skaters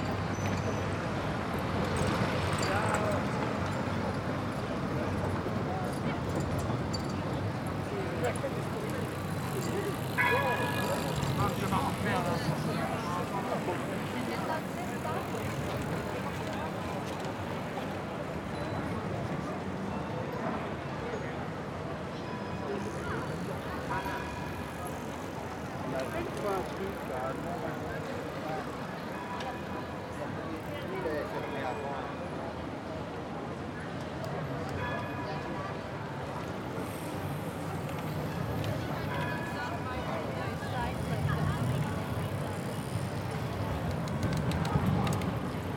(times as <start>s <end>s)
36.2s 45.7s